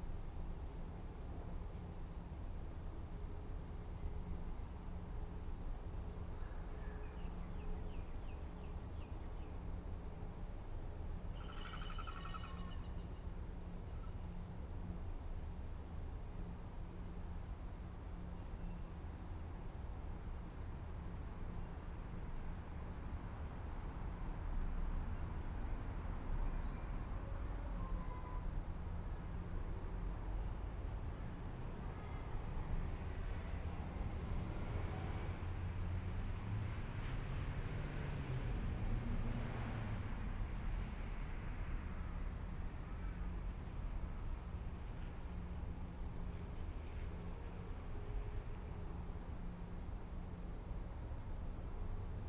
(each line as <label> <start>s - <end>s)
distant traffic 6.1s - 17.5s
magpie lark 11.3s - 13.1s
ravens 11.3s - 13.1s
blue wren 11.3s - 13.2s
magpie 11.4s - 13.1s
distant traffic 21.1s - 52.2s